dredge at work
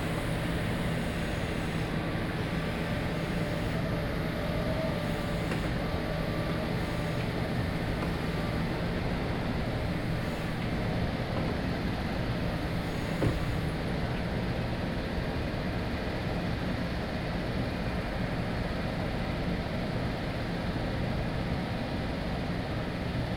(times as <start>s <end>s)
0.0s 14.4s